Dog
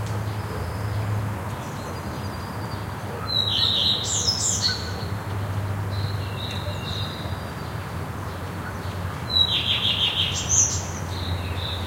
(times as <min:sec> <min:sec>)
0:03.1 0:03.9